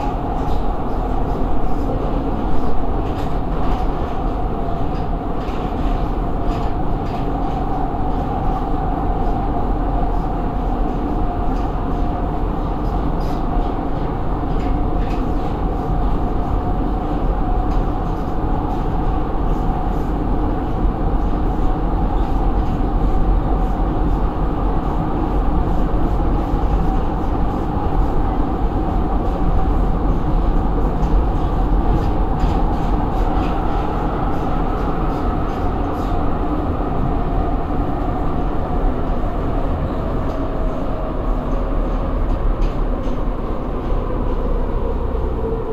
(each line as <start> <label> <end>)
0.0 metro 45.7